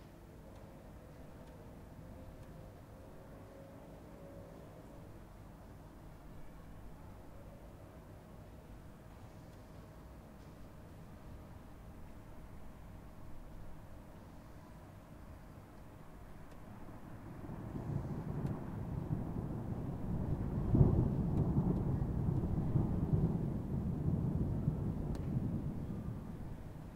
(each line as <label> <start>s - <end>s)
thunder 17.2s - 26.9s